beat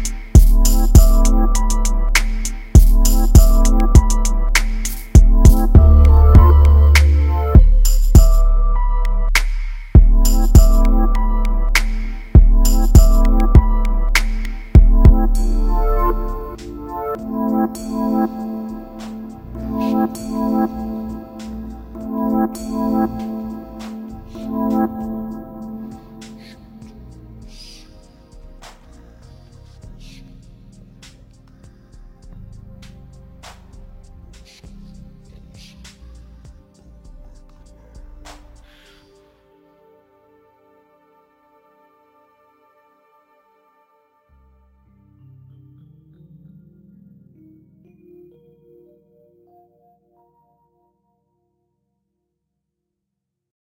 0.0 27.6

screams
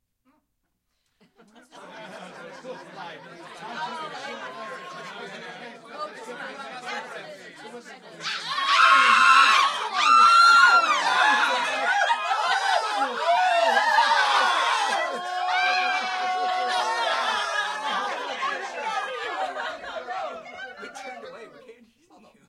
8.2 18.4

